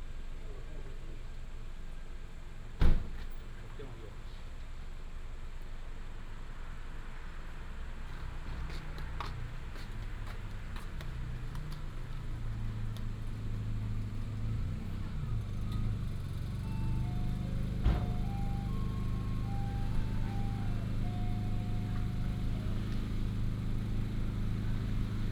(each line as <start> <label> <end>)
0.8 traffic sound 25.3